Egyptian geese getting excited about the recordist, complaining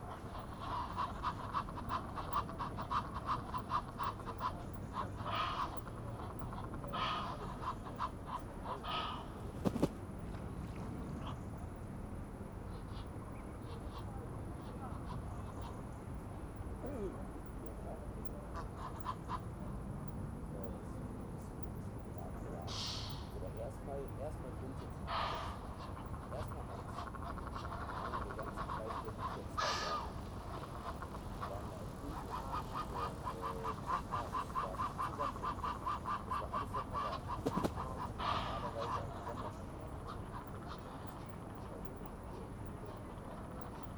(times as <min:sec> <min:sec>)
0:00.0 0:09.9, 0:24.7 0:43.9